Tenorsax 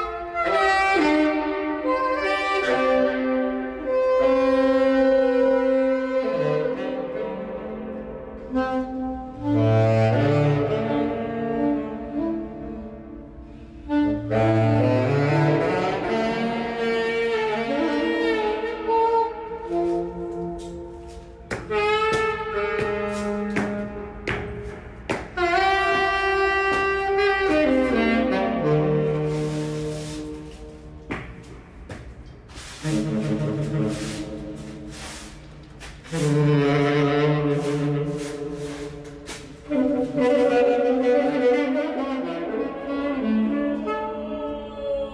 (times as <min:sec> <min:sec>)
0:08.4 0:44.4